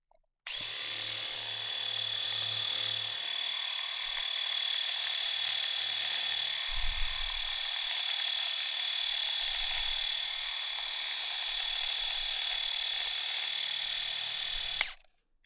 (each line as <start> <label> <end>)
0.5 Electric razor 6 - trimmer mode on beard 15.0